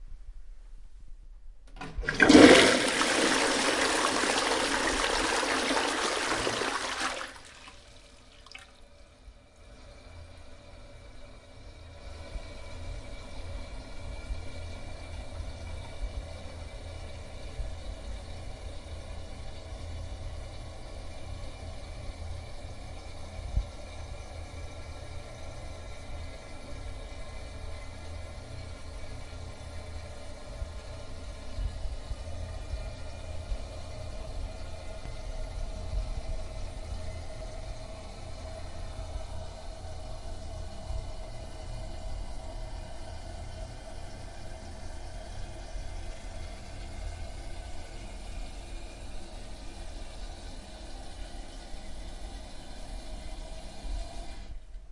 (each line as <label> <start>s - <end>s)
Toilet Flush 1.8s - 8.8s